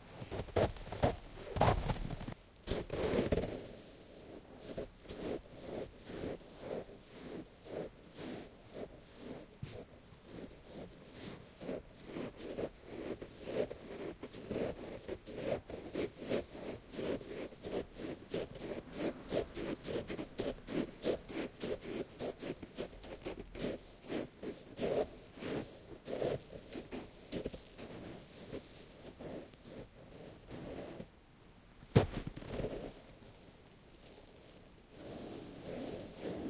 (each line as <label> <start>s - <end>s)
Footsteps in Sand 0.0s - 3.4s
Footsteps in Sand 31.9s - 33.6s